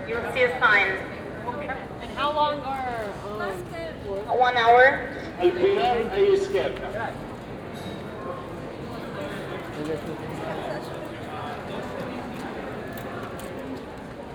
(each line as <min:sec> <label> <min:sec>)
0:00.0 assistants talking to visitors via small lo-fi speakers 0:14.0